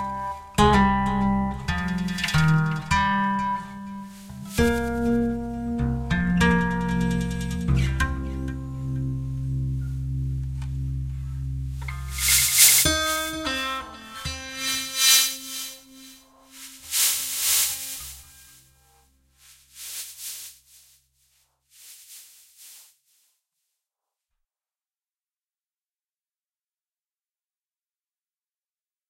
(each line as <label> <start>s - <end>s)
acoustic guitar 0.0s - 19.0s